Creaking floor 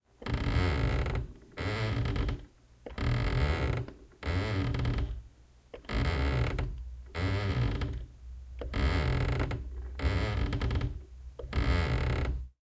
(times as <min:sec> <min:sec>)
0:00.2 0:05.2, 0:08.6 0:12.5